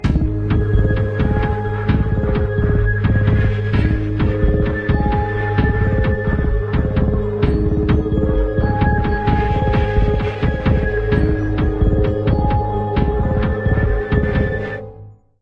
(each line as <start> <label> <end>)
0.0 ringtone 14.8